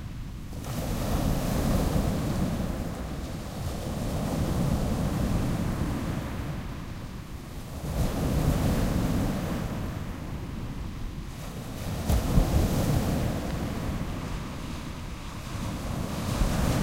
waves crash onto a sandy beach 0:00.5 - 0:16.8

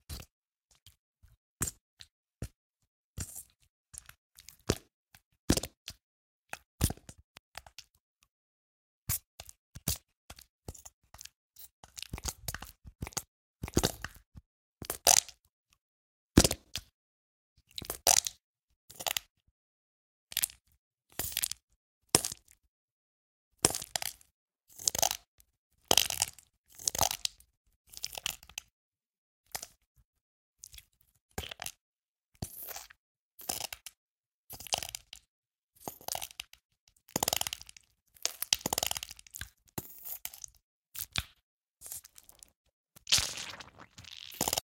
StickyMudNStuff 0:43.1 - 0:44.6

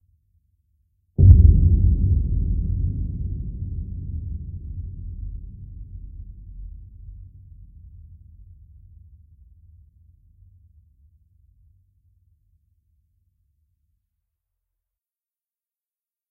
Large, Low Boom 0:01.2 - 0:07.6

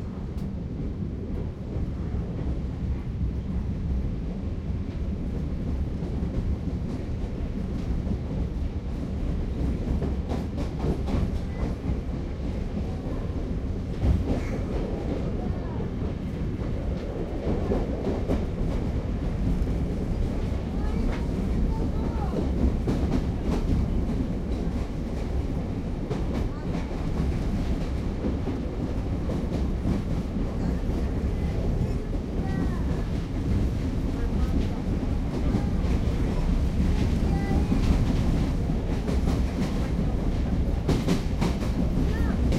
train pulls into the station 0:00.0 - 0:42.5
Voices 0:10.8 - 0:42.5

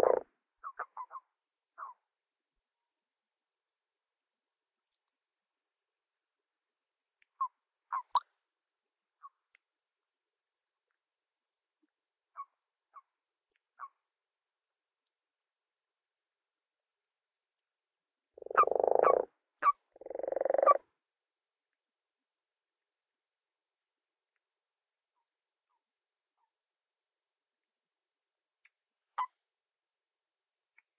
lower pitched croaks 0:00.0 - 0:00.2
higher pitched qwarks are male toads 0:00.0 - 0:01.2
lower pitched croaks 0:18.4 - 0:19.3
higher pitched qwarks are male toads 0:18.4 - 0:20.8
lower pitched croaks 0:20.0 - 0:20.8

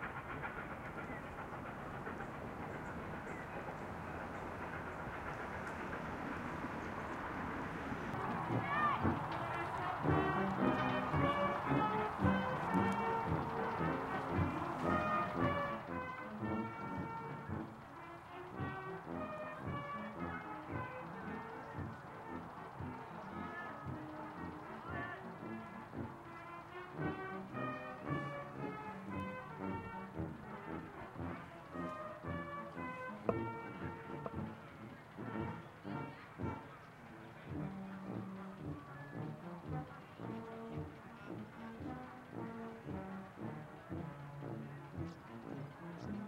birds 0:00.0 - 0:08.2
Steam 0:00.0 - 0:46.2
brass band 0:00.0 - 0:46.2
trains whistle 0:00.0 - 0:46.2

